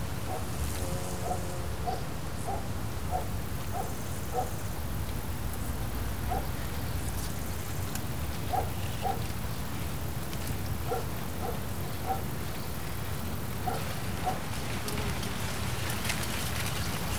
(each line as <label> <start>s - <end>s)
leaves of corn gently brushing against each other 7.3s - 17.1s